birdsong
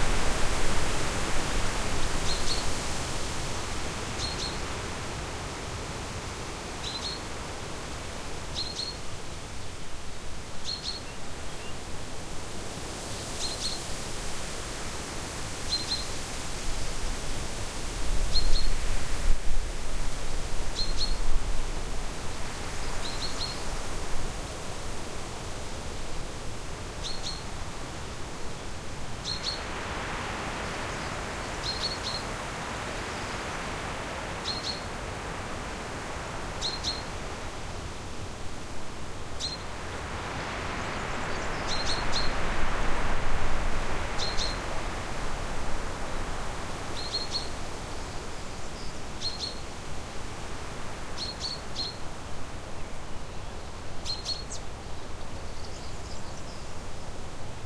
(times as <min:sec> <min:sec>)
0:30.6 0:32.3, 0:34.4 0:34.9, 0:36.6 0:37.1, 0:40.8 0:42.4, 0:47.0 0:49.6, 0:51.2 0:52.0, 0:53.6 0:56.8